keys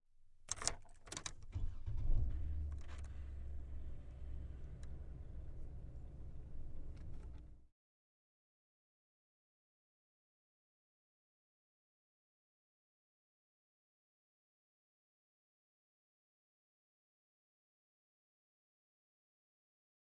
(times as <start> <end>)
0.5 1.5